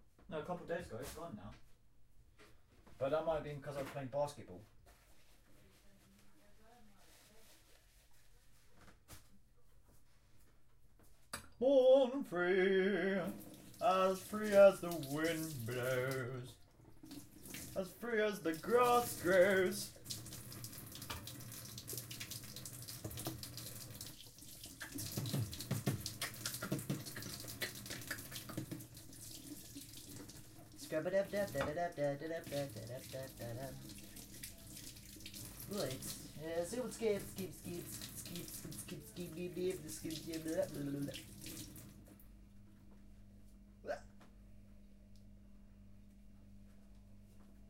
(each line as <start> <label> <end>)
11.6 singing 16.6
13.2 washing a kitchen utensil 42.0
17.8 singing 20.0